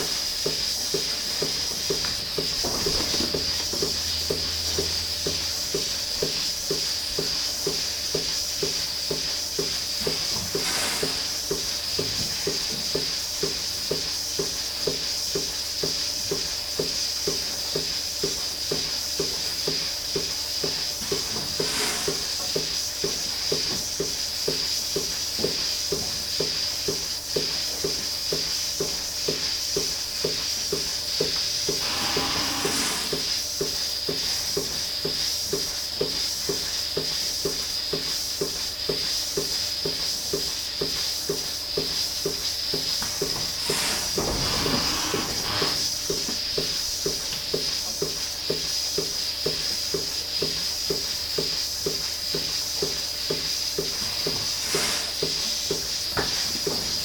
milking robot 19.2 - 23.2
milking robot 31.7 - 33.7
milking robot 43.2 - 47.2

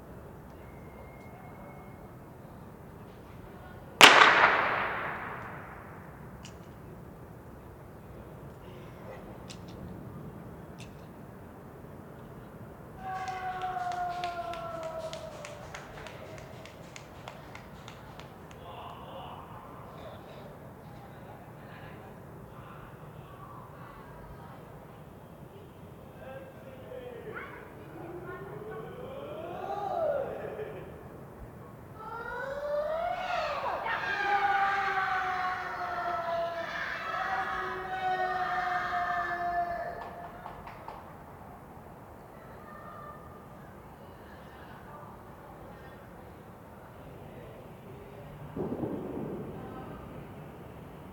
Penalty Shootout screams 4.0 - 6.0

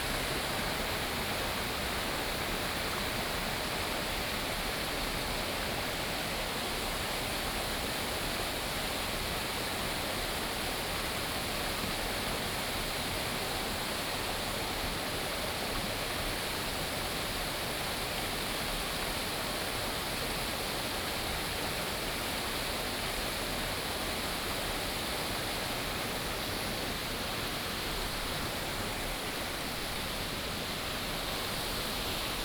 Stream sound 23.7 - 32.4

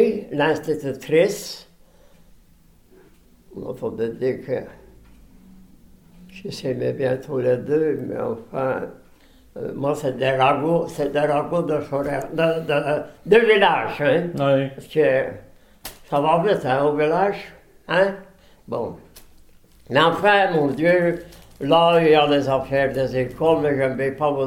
old man memories 2.6 - 15.4
old man memories 19.8 - 24.4

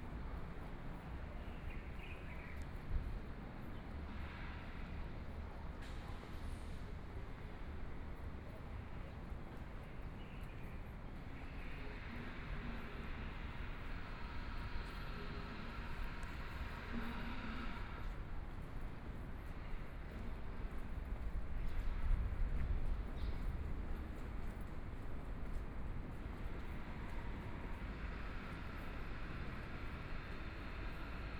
walking in the Street 0.0 - 31.3

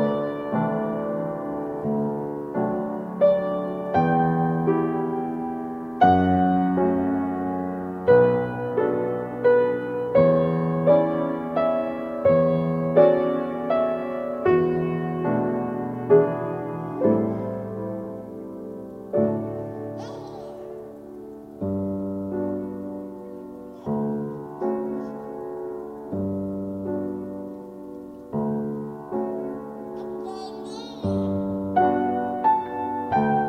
playing the piano 0.0 - 33.4

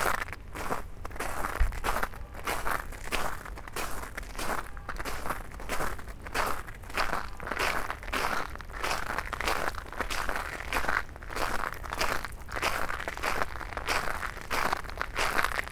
Walking in the black ice 0.0 - 15.7

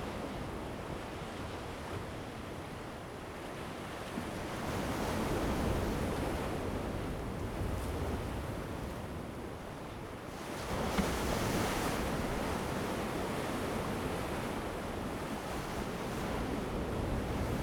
wind 0.0 - 17.6
waves 10.4 - 17.6

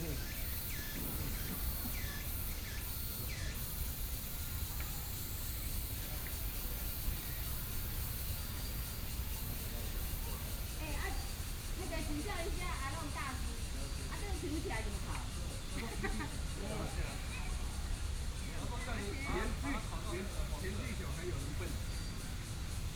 group of people are barbecue 0.0 - 22.9

